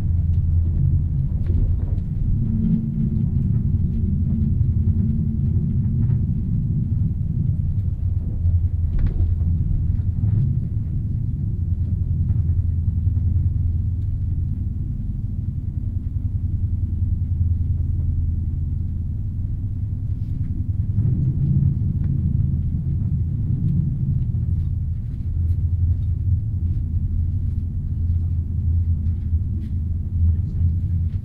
0.0s fasttrain 11.2s

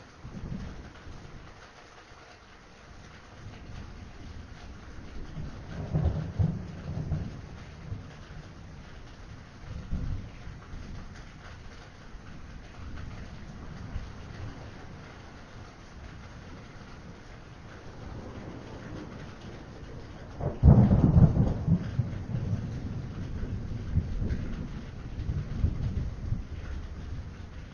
0.0s RAIN 27.7s
0.2s THUNDER 1.5s
3.4s THUNDER 11.7s
12.4s THUNDER 27.7s

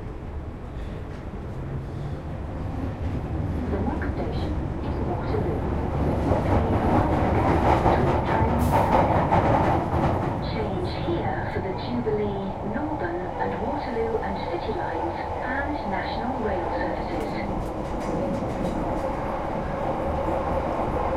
0.0s Tube Train travelling between stations 21.1s

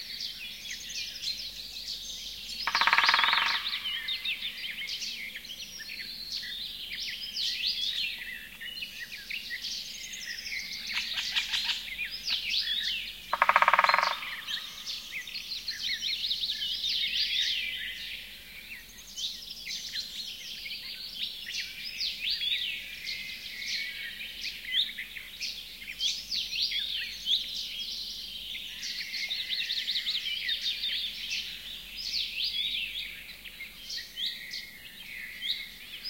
0.0s Birdsong 36.0s
2.5s woodpecker 4.8s
10.9s woodpecker 16.0s

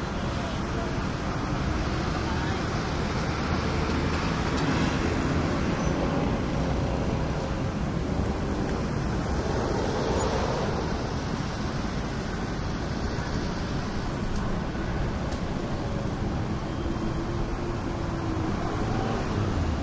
0.0s heavy traffic 19.8s
8.9s motorcycles and mopeds pass by 11.5s

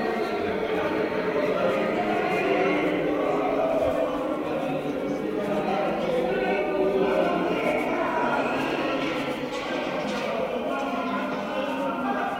0.0s different voices singing flamenco 12.3s

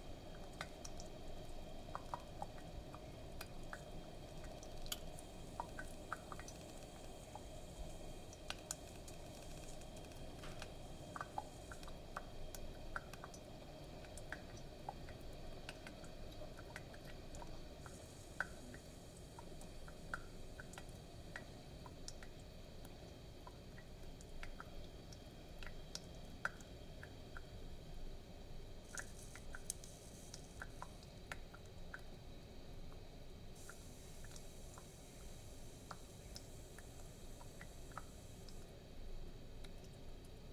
0.0s steam 23.4s
0.0s coffee maker brewing coffee 40.5s
28.8s steam 31.2s
33.5s steam 38.8s

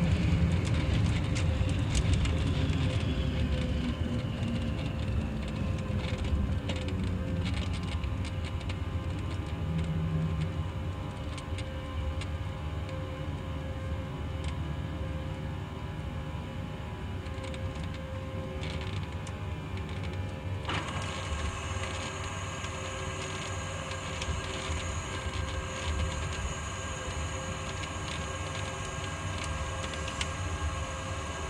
0.0s Boeing 707 landing 31.4s

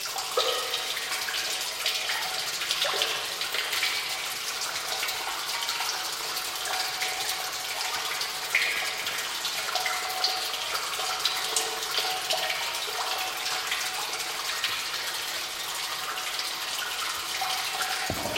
0.0s Small stream of water in cave, strong reverb 18.3s

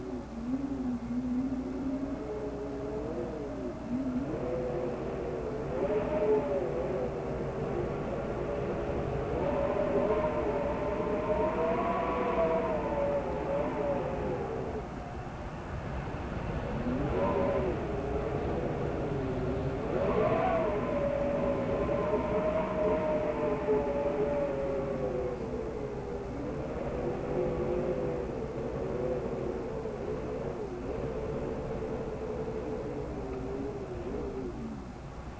0.0s howling wind 35.3s

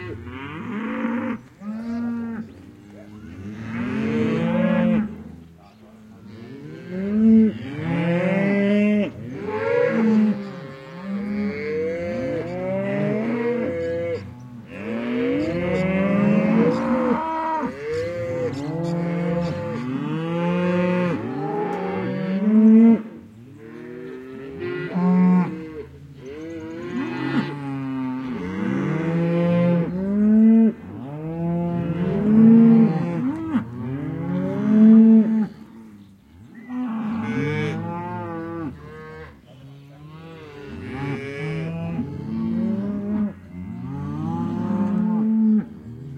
0.0s Herd of cows 46.1s

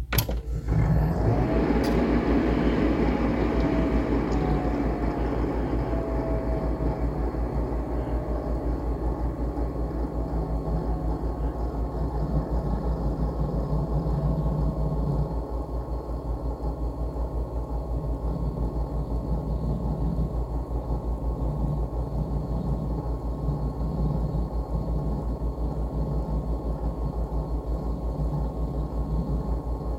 0.0s PC turning on, running and turns off 29.9s

